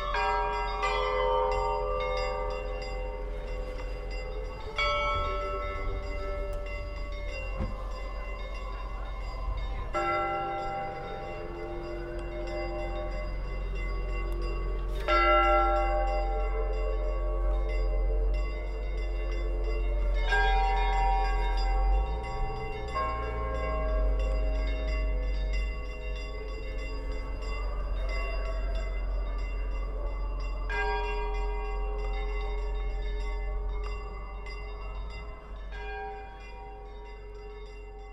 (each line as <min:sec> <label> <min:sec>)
0:00.0 Eester bells rung by hand 0:38.1